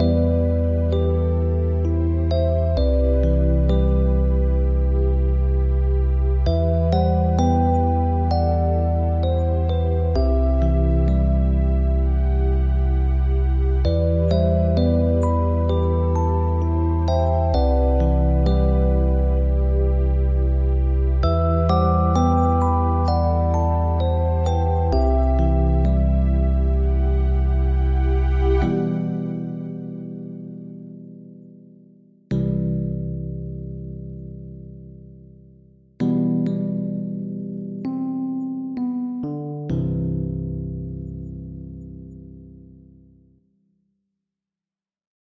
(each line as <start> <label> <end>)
0.0 music 43.9